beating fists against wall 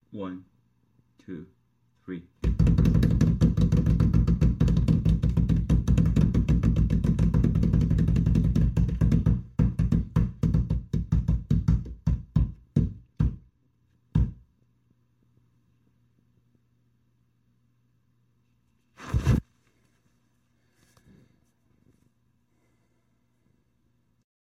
2.4s 13.5s, 14.1s 14.4s

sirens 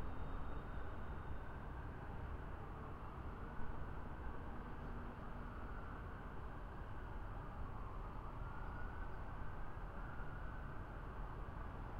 5.1s 11.9s

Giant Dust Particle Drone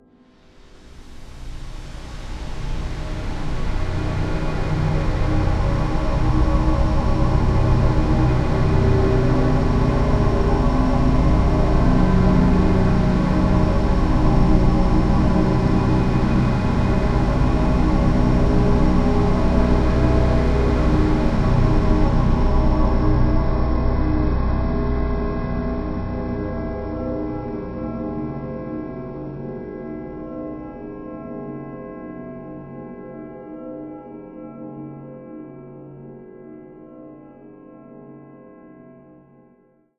1.1s 26.2s

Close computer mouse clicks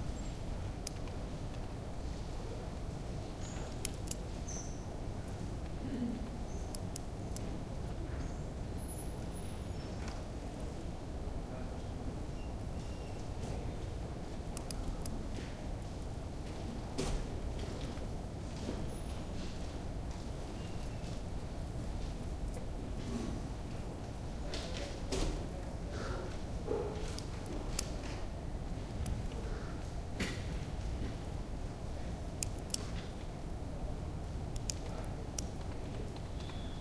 3.7s 4.2s, 14.6s 15.2s

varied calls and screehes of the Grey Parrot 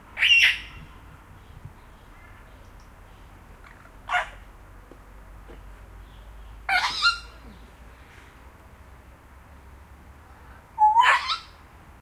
0.2s 0.8s, 6.7s 7.4s, 10.8s 11.6s

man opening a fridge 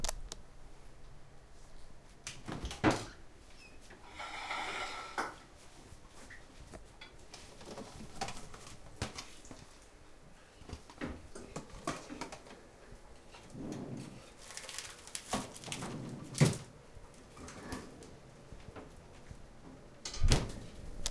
2.4s 5.4s, 13.3s 19.0s, 20.0s 21.0s

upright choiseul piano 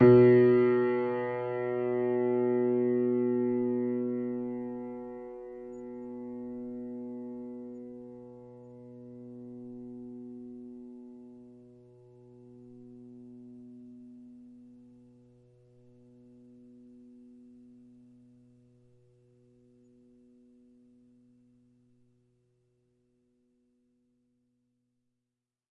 0.0s 14.9s

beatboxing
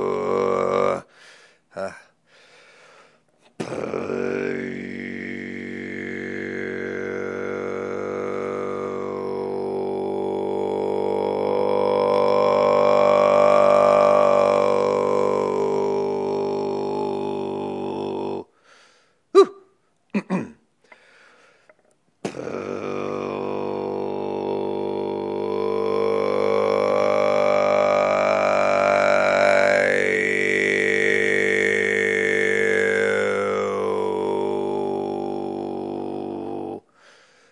3.6s 4.1s, 22.2s 22.7s

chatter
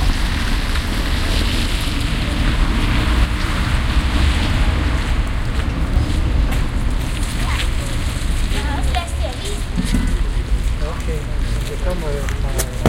7.2s 12.8s

